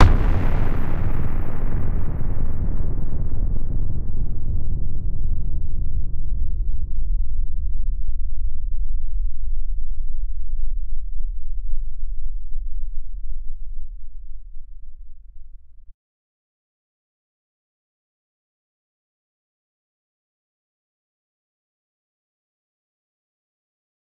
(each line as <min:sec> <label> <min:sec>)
0:00.0 huge bomb dropping on it's designated target 0:01.8